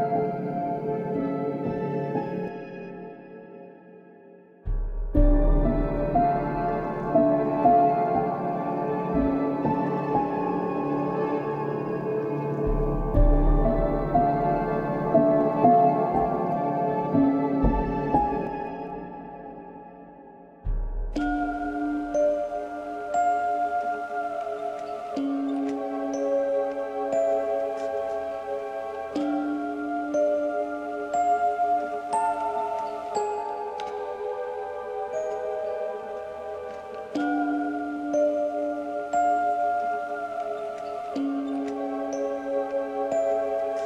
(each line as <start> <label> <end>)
0.0 piano 43.8
5.2 choir 20.3
21.2 choir 43.8